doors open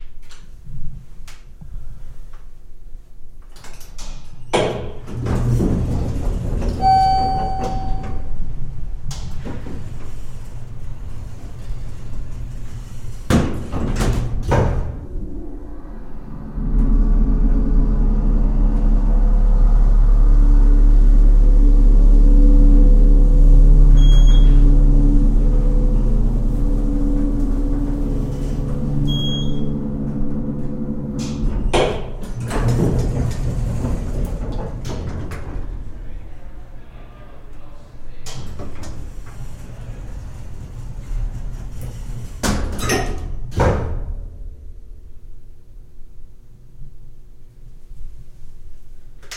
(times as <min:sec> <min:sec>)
0:03.3 0:20.9, 0:22.3 0:36.7, 0:37.4 0:44.5